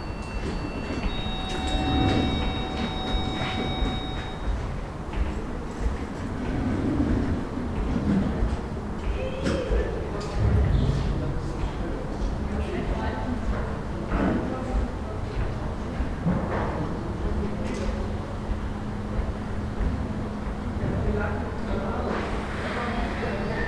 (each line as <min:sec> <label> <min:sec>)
0:00.0 elevator 0:12.0